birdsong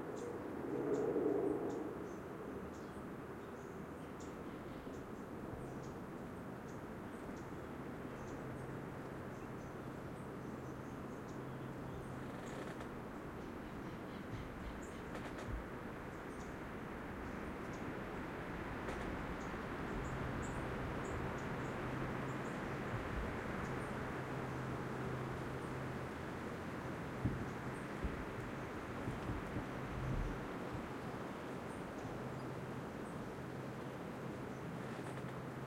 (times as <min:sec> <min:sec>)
0:00.9 0:16.6